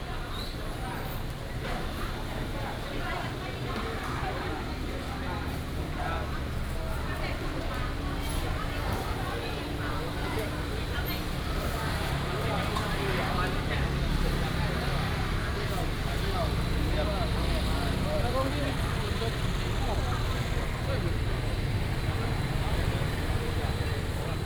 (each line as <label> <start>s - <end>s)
Walking in the Public retail market 0.0s - 24.4s
Traffic sound 7.9s - 24.4s